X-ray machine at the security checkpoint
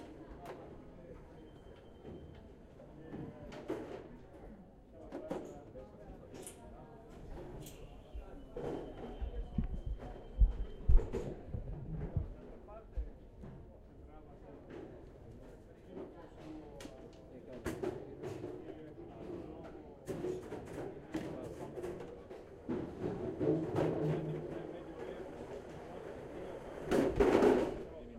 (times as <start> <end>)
0.5 2.9, 7.3 13.2